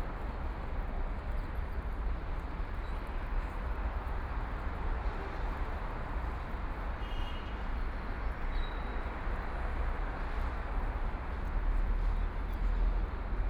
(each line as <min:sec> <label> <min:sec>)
0:07.6 Traffic noise 0:13.4